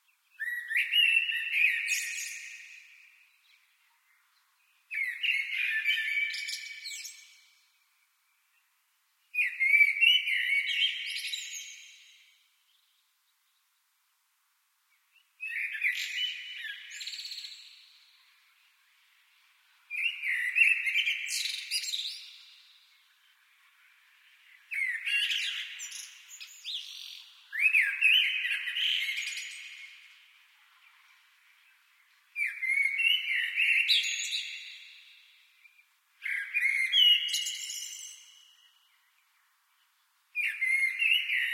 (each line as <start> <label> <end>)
0.0 bird with echo from concrete 14.0
14.9 bird with echo from concrete 41.5